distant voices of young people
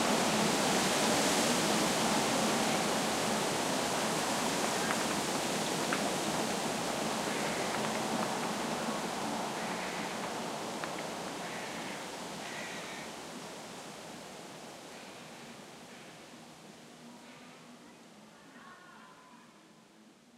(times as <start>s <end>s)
17.4s 19.8s